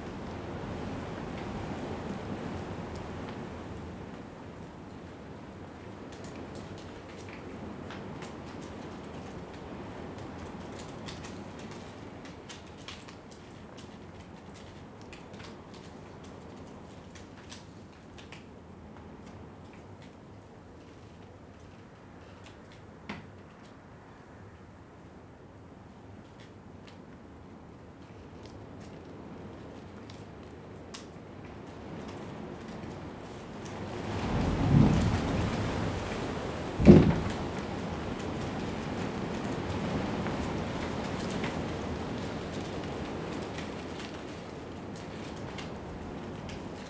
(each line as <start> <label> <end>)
5.4 strips of plastic whipping around in the wind 23.8
26.1 strips of plastic whipping around in the wind 46.8
33.7 wind hitting against the side of the container 41.3